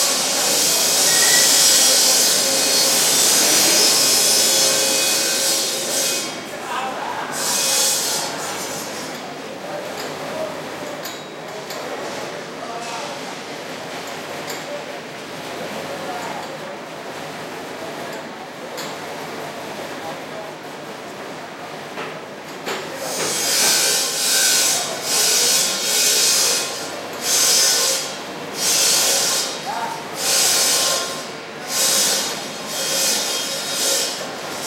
bandsaw heard frequently, resonating off buildings 0.0 - 9.4
men working 0.0 - 34.6
bandsaw heard frequently, resonating off buildings 22.5 - 34.6

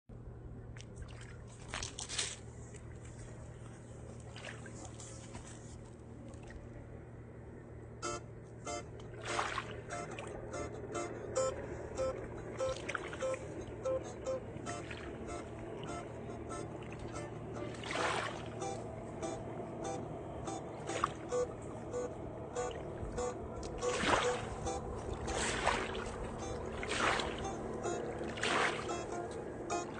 river 0.2 - 29.9
playing guitar 8.0 - 29.9

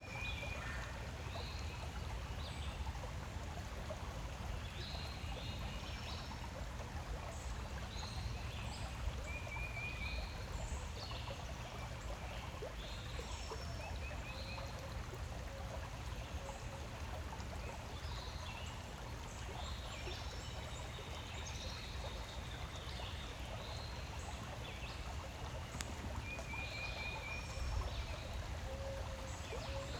babbling brook 0.0 - 29.9

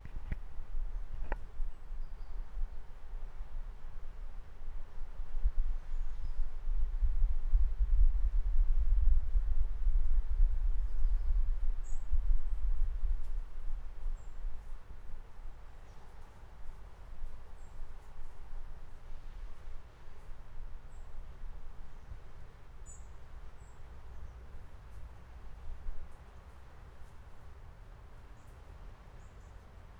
river 18.9 - 29.9

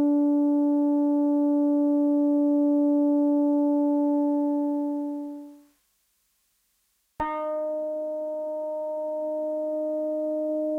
analog koto notes 7.2 - 10.7

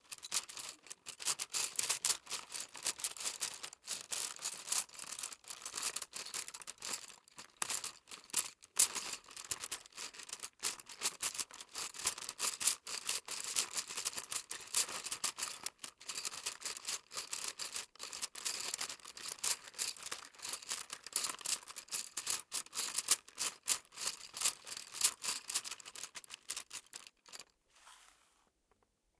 pencil box 16.2 - 28.5

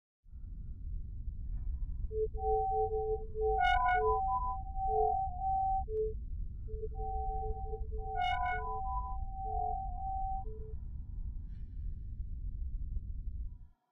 drone 1.5 - 10.8
beeping 2.2 - 10.7

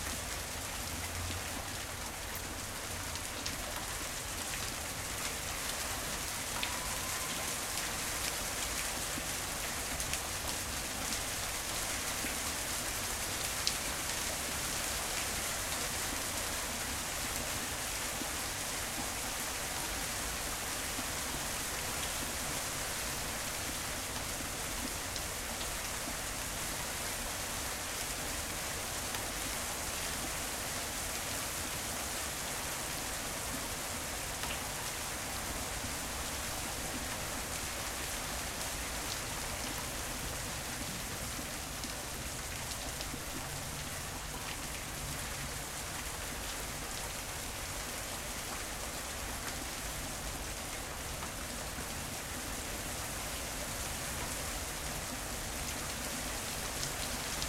rain 0.0 - 57.4

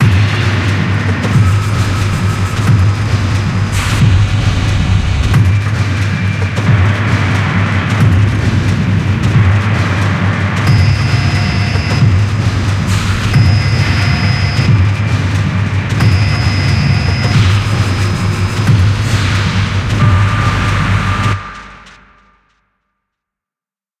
hits of machine noise 0.0 - 7.4
mechanical rhythm 0.0 - 22.0
hits of machine noise 10.7 - 22.1

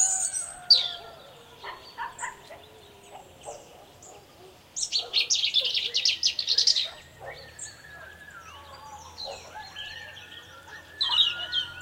rooster crowings 0.0 - 1.5
bird tweets 0.0 - 11.8
dog barkings 1.6 - 8.2
dog barkings 9.2 - 10.0

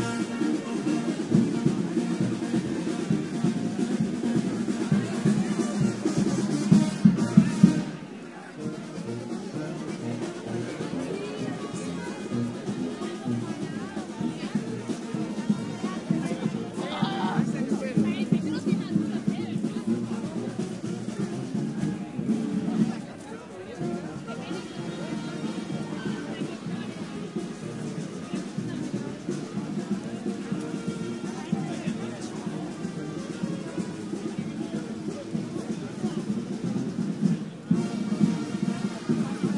Crowd talking and singing 0.0 - 39.5
brass band doing a street performance 0.0 - 39.5

